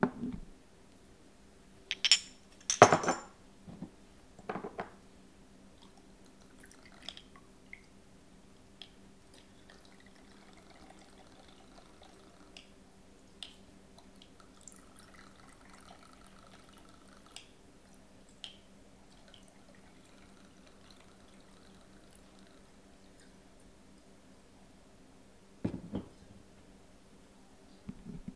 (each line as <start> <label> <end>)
1.9 3 shot glasses set down 3.3
1.9 Bottle set down 3.9
4.5 3 shot glasses set down 5.0
4.5 Bottle set down 5.0
25.6 3 shot glasses set down 26.2
25.6 Bottle set down 26.3